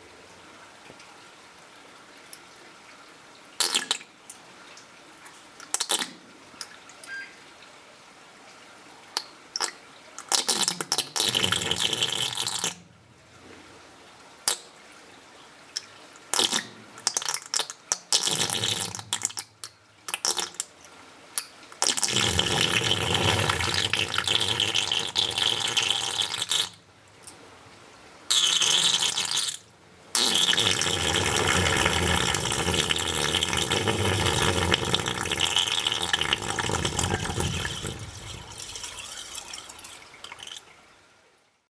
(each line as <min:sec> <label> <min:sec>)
0:10.2 whoopee pipe 0:12.8
0:16.3 whoopee pipe 0:19.5
0:21.8 whoopee pipe 0:26.8
0:28.3 whoopee pipe 0:29.6
0:30.2 whoopee pipe 0:39.6
0:30.2 bip 0:40.6